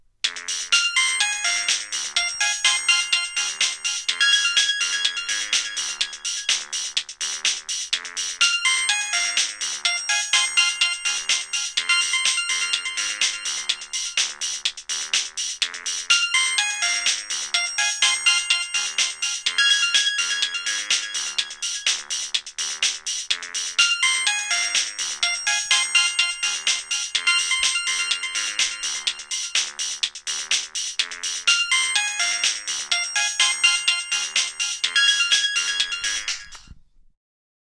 0.7s mobile phone ringtone 6.7s
8.4s mobile phone ringtone 14.2s
16.1s mobile phone ringtone 22.1s
23.8s mobile phone ringtone 29.8s
31.5s mobile phone ringtone 36.7s

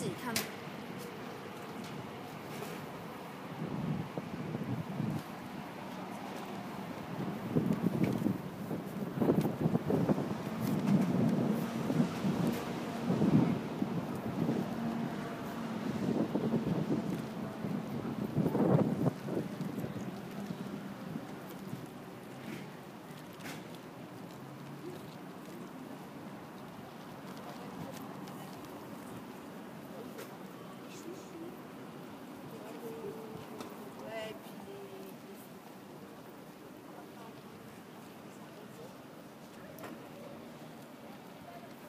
27.2s people 31.8s

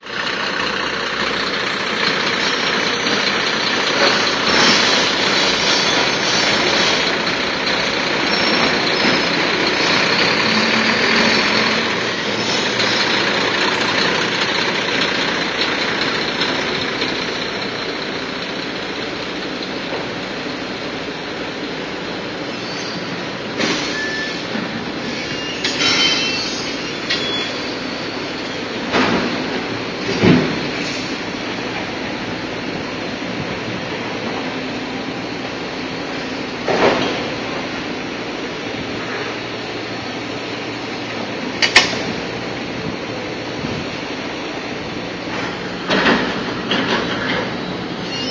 0.0s machines 48.3s

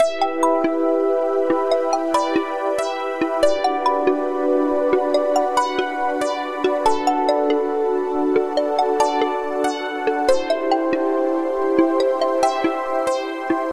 0.0s synth 13.7s

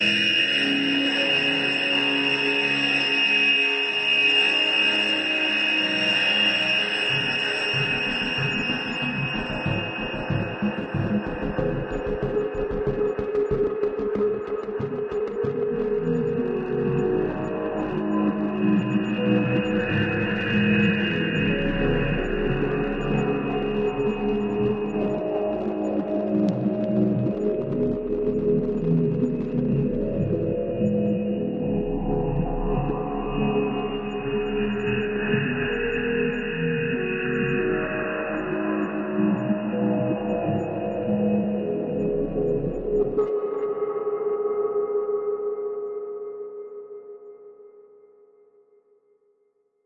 4.6s percussion 43.4s

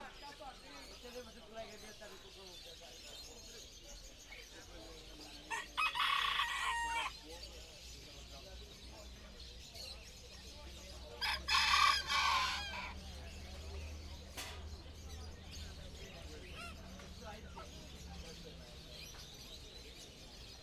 0.0s birds 20.6s
0.0s humans chatting 20.6s

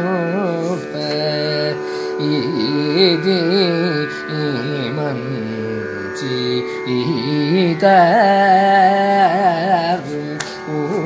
0.0s Carnatic varnam 11.0s

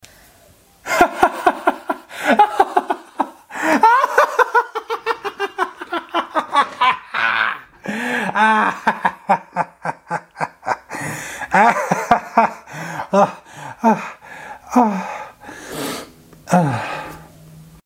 0.9s Evil Man Laughing Crazy and Madly 15.3s

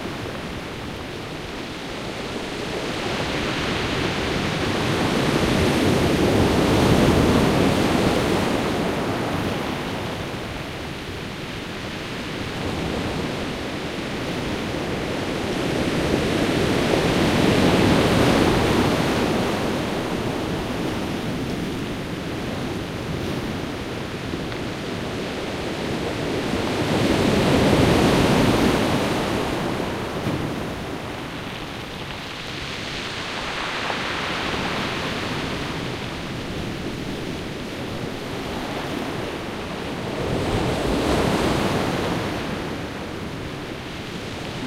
22.0s Small waves on pebble beach 38.8s

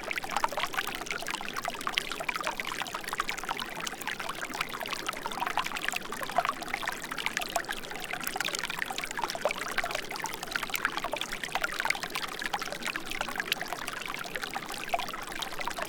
0.0s small streams 15.8s

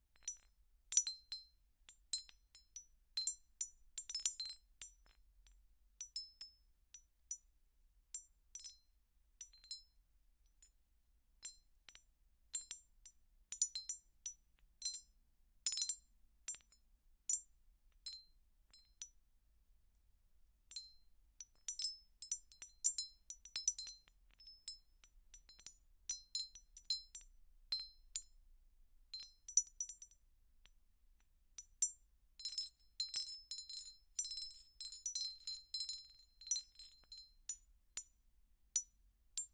0.2s Glassy Stone Windchime sounds 5.2s
20.7s Glassy Stone Windchime sounds 28.3s
29.1s Glassy Stone Windchime sounds 30.2s
31.6s Glassy Stone Windchime sounds 37.7s

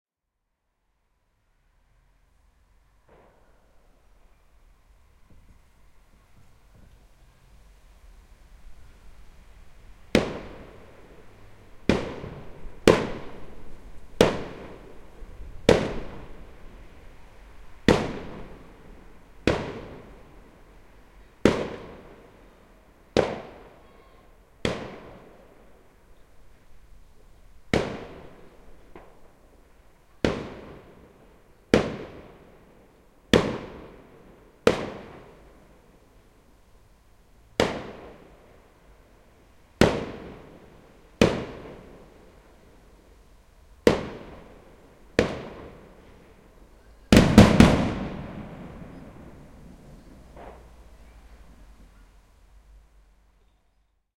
10.1s barrage firework 11.2s
11.8s barrage firework 16.8s
17.8s barrage firework 20.3s
21.4s barrage firework 22.2s
23.1s barrage firework 24.0s
24.6s barrage firework 25.5s
27.7s barrage firework 29.3s
30.2s barrage firework 32.6s
33.3s barrage firework 35.4s
37.6s barrage firework 38.4s
39.8s barrage firework 42.2s
43.8s barrage firework 46.3s
47.1s barrage firework 51.7s
47.2s finale of very powerful, loud shells 50.2s

